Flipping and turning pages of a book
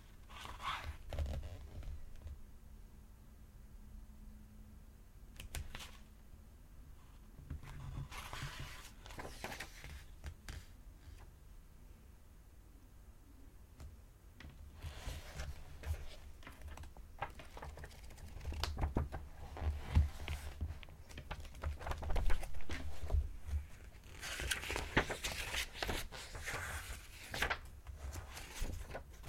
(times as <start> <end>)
0.2 2.3, 5.4 6.1, 7.5 11.3, 14.5 29.2